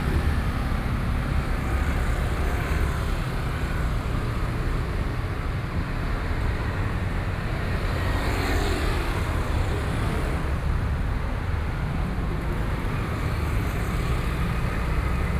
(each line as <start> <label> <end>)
0.0 traffic noise 15.3